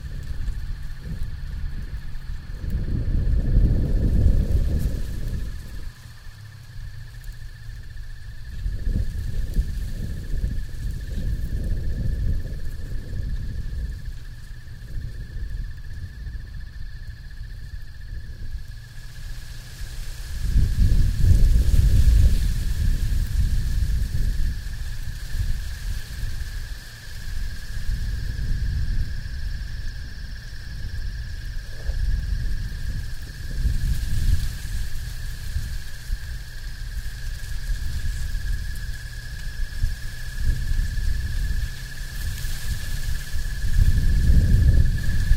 Brisk winds from the north 0:00.0 - 0:45.3
insects 0:00.0 - 0:45.3

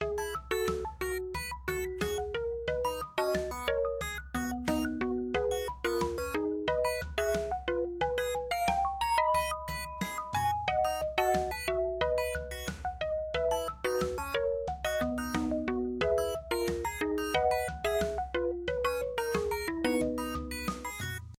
Arcade Game Loop 0:00.0 - 0:21.3

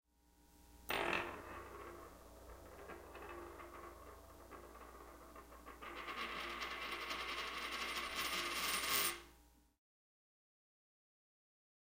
Coin spinning on flat surface 0:00.9 - 0:09.3

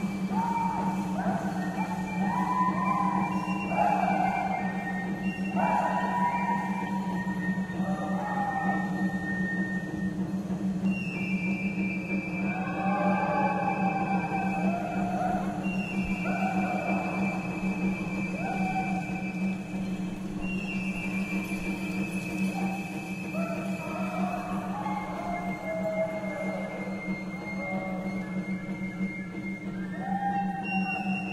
Crowd 0:00.0 - 0:31.3
chanting 0:00.0 - 0:31.3
flute playing 0:00.0 - 0:31.3
yelling / whooping 0:00.2 - 0:04.9
yelling / whooping 0:12.4 - 0:19.4
yelling / whooping 0:22.4 - 0:28.4
yelling / whooping 0:29.9 - 0:31.3

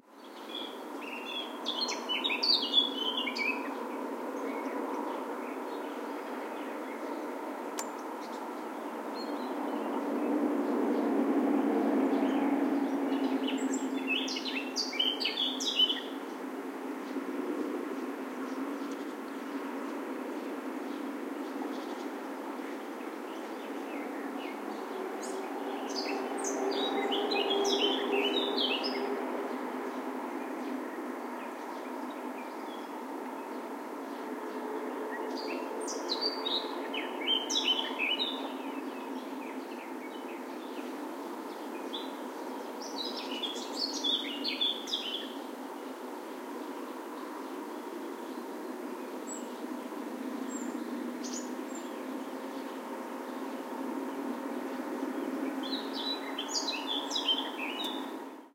song of a Garden Warbler 0:00.0 - 0:58.5
other birds in the background 0:55.1 - 0:58.4

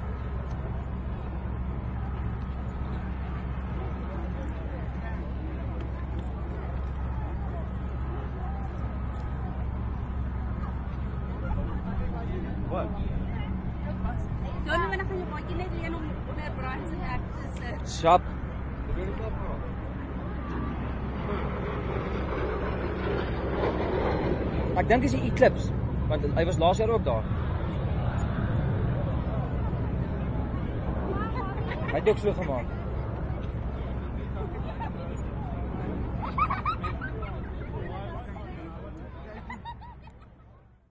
jet 0:00.0 - 0:40.9

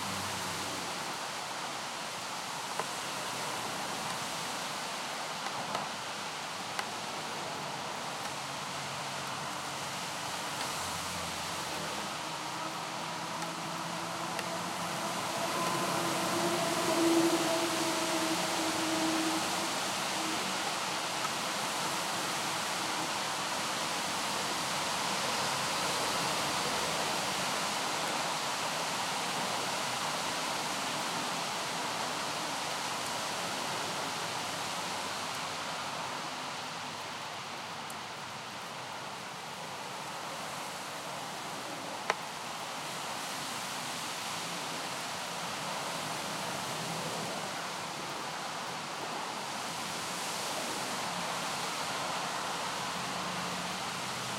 traffic to come and go 0:00.0 - 0:01.2
Rain 0:00.0 - 0:54.3
traffic to come and go 0:09.8 - 0:23.2

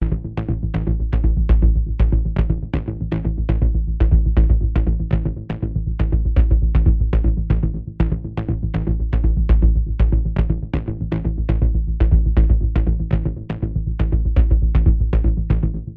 DUB BASS 0:00.0 - 0:15.9

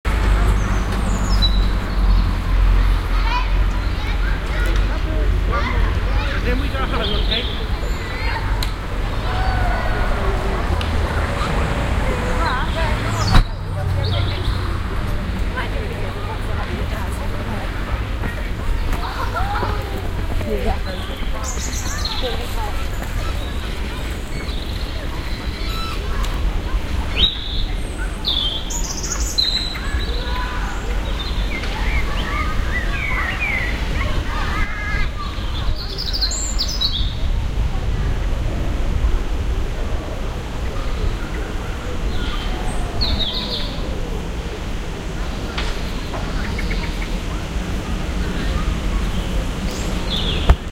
Playground 0:00.0 - 0:50.7
Birds 0:00.1 - 0:37.4
Birds 0:40.1 - 0:50.7

